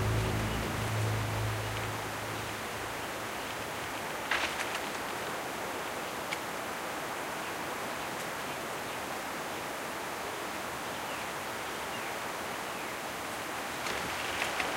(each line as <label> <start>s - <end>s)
Foghorn 0.0s - 2.8s
wind 0.0s - 14.7s